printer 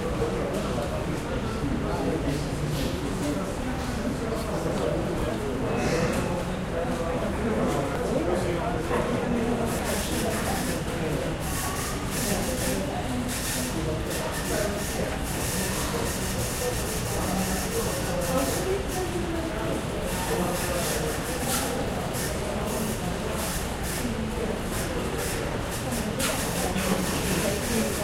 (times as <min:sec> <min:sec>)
0:07.6 0:28.0